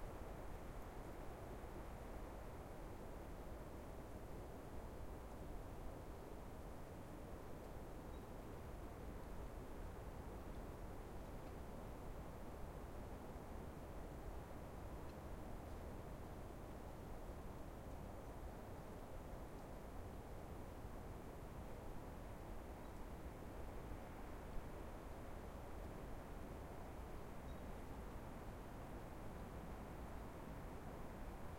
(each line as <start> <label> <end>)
0.0 winter windy forest 31.5